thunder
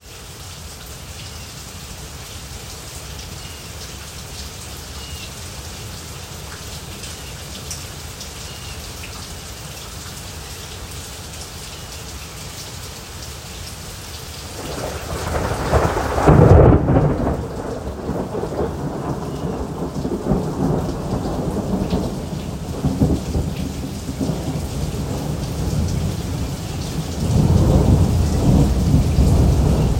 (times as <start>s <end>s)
14.6s 26.2s, 27.2s 29.9s